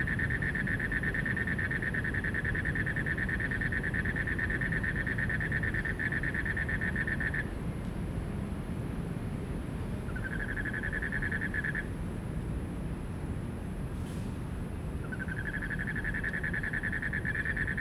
Frogs chirping 0.0 - 7.5
Traffic noise 0.0 - 17.8
Frogs chirping 10.1 - 11.9
Frogs chirping 15.0 - 17.8

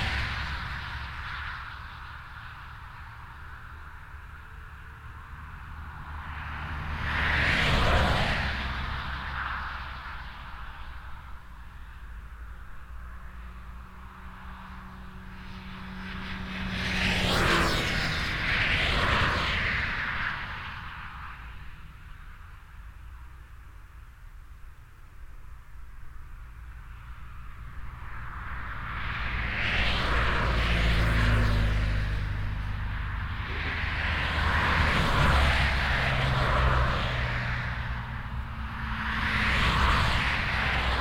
Traffic on the highwaylike E 421 0.0 - 41.0

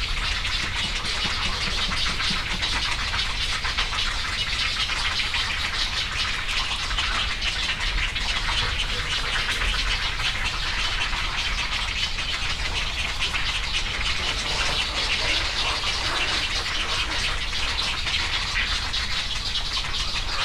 Great egrets 0.5 - 3.9
cattle egrets 0.6 - 3.9
Great egrets 12.2 - 19.1
cattle egrets 12.2 - 20.4
Great egrets 19.8 - 20.4

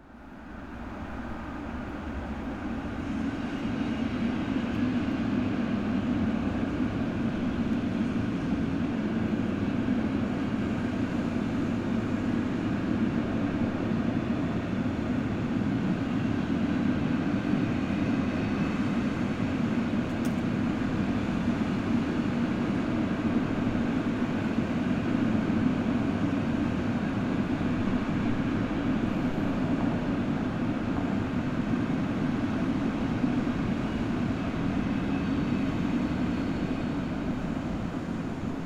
freight train passes 0.0 - 38.6

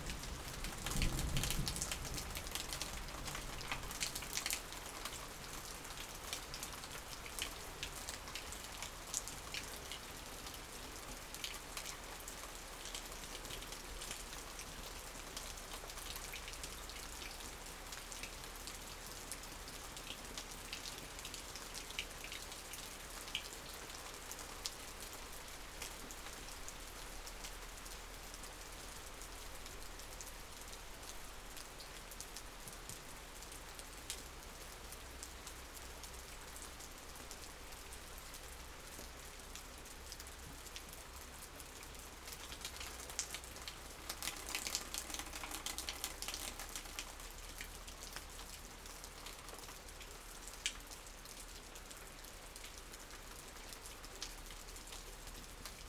Thunderstorm 0.0 - 4.0
Rain 0.0 - 55.8

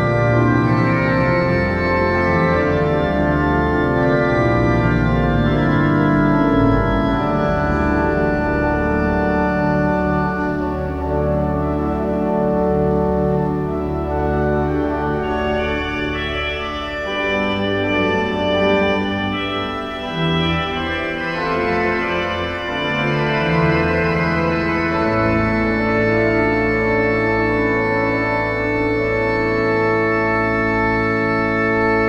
Organ concert 0.0 - 32.0

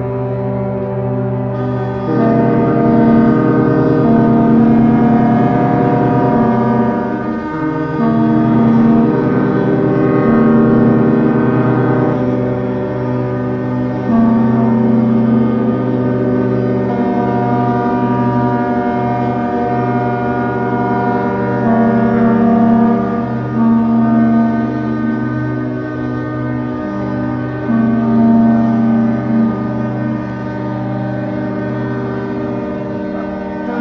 Ships Horns 0.0 - 33.8

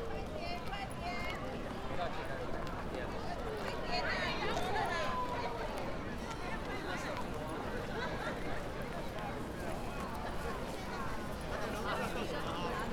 huge crowd moving around the park 0.0 - 12.9

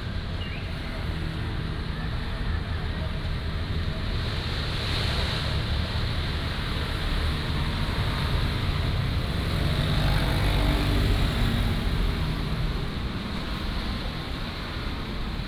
Traffic Sound 0.0 - 15.4

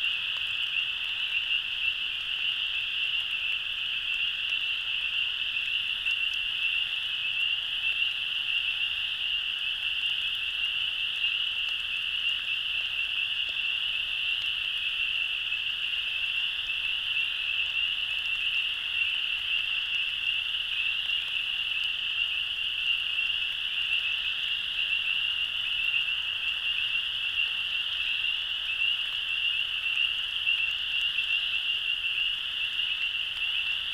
cricket frogs 0.0 - 33.9
crickets 0.0 - 33.9
light rain 0.0 - 33.9
other frogs 0.0 - 33.9
other insects calling constantly 0.0 - 33.9
spring peepers (frogs) 0.0 - 33.9

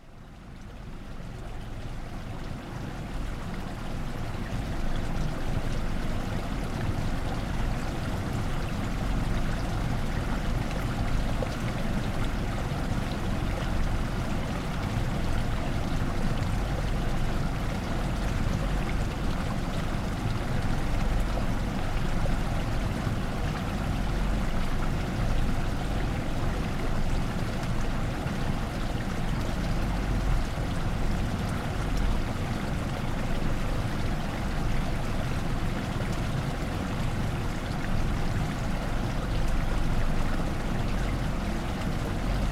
Water running from one pond to other 0.1 - 42.5

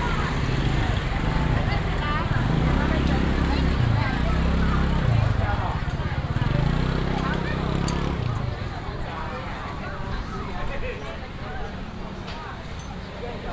Traffic sound 0.0 - 10.4
walking in the Evening market 0.0 - 13.5

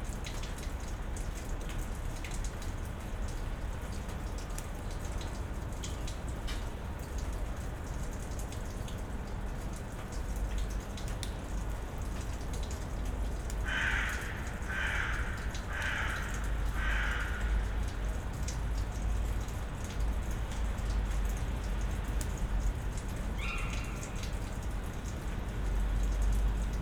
drips and drops 0.2 - 26.8
crows 13.6 - 17.9
crows 23.4 - 24.3

